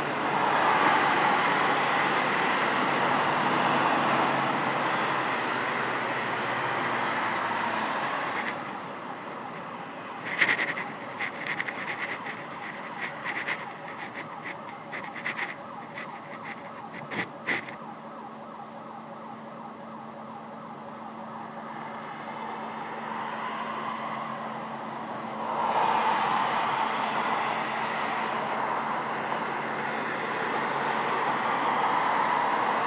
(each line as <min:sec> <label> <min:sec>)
0:00.0 Traffic 0:32.8
0:00.8 Distant Security Alarm Siren 0:25.6